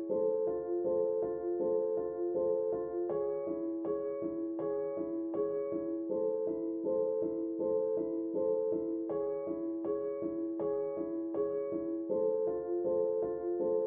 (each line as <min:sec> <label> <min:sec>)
0:00.0 piano 0:13.8